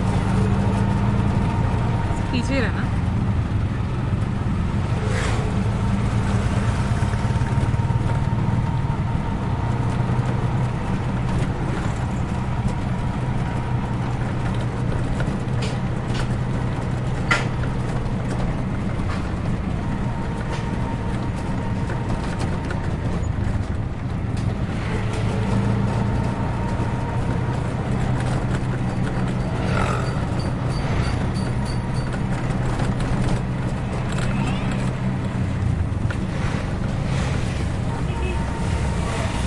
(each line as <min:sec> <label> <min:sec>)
0:00.0 rickshaw ride fast speed smooth 0:39.4
0:00.0 traffic pass by 0:39.4